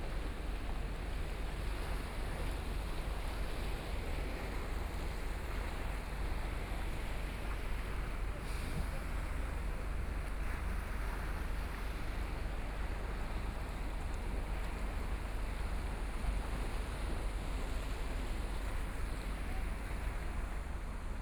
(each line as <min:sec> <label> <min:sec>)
0:00.0 waves 0:21.2